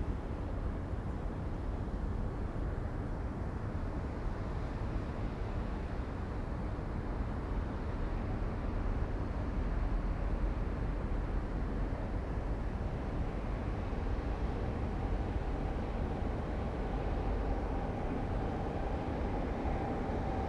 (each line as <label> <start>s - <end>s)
trains 10.5s - 20.4s